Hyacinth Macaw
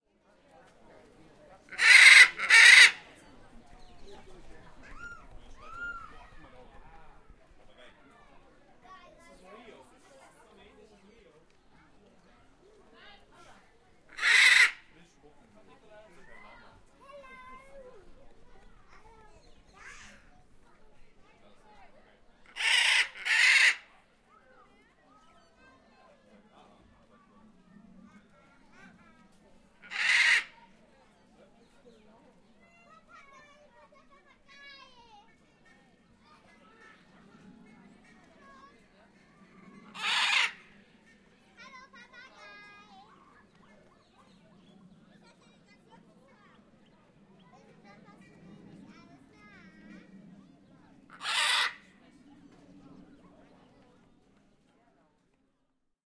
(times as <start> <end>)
1.6 3.2, 14.1 15.0, 22.4 24.0, 27.6 30.8, 36.8 41.8, 49.6 52.1